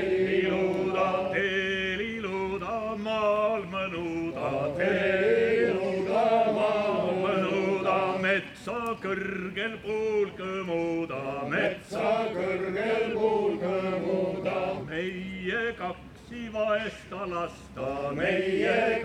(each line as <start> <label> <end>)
0.0 Male choir singing traditional Estonian songs 19.0